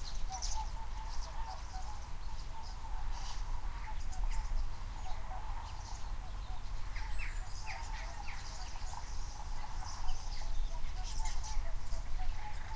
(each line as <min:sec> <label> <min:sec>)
0:00.0 birds arguing 0:12.7
0:00.0 geese on a nearby field, breaking up 0:12.7